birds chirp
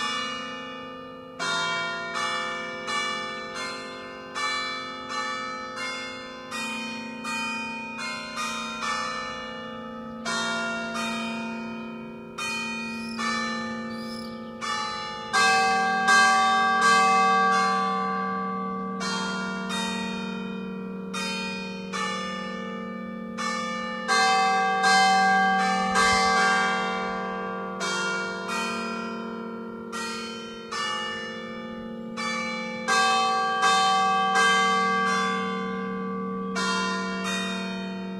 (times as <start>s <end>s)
12.9s 14.6s